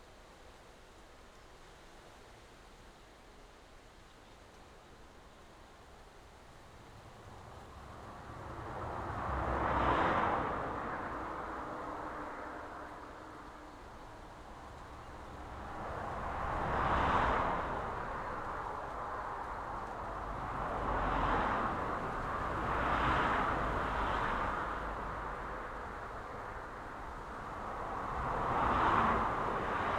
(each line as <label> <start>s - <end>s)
busy road 6.6s - 29.9s